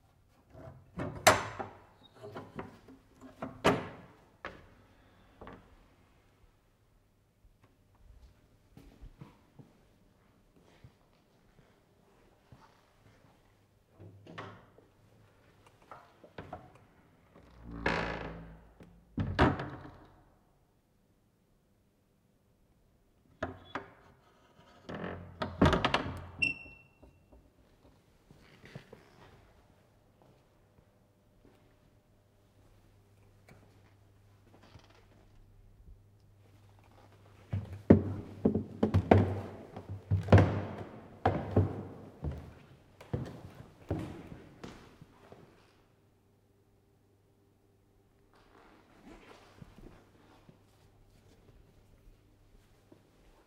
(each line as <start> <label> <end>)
37.5 creaking stairs 44.8